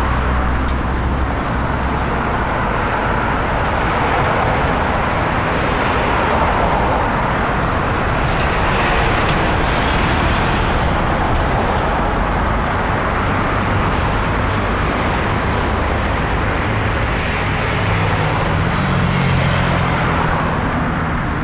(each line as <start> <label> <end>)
0.0 various types of vehicles, large and small 21.4